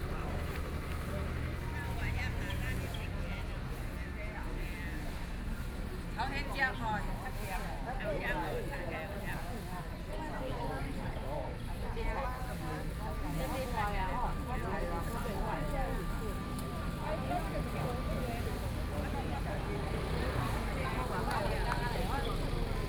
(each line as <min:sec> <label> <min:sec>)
0:13.2 Traffic Sound 0:22.8